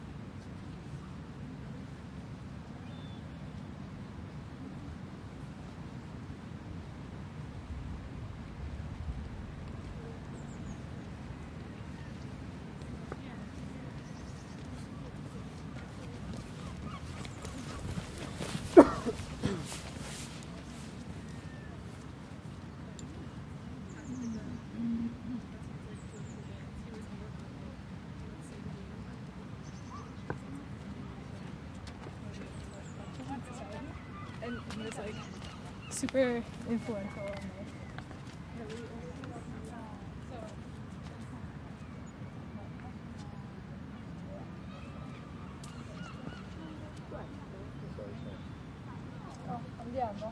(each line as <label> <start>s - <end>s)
people passing from the left to the right 0.0s - 50.3s
wind 0.0s - 50.3s
birds 13.9s - 20.0s
birds 31.3s - 39.6s
birds 44.7s - 50.2s